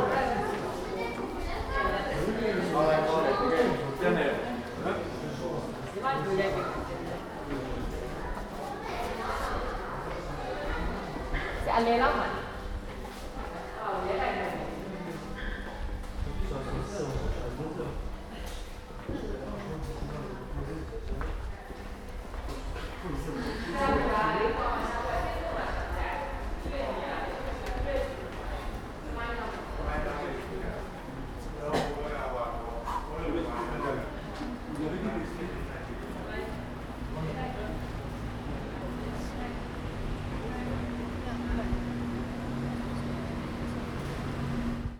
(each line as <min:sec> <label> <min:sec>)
0:00.0 long queue of people waiting to use the lift 0:44.9
0:37.7 Descending in the lift from the park to the street 0:44.9